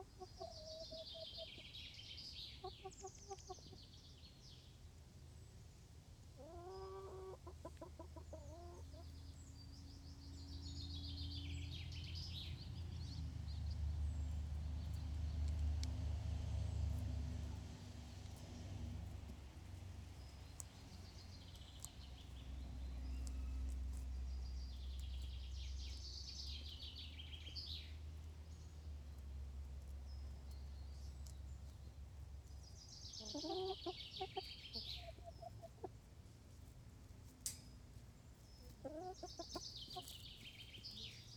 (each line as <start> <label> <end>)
0.0 Chickens making little noises while eating 41.3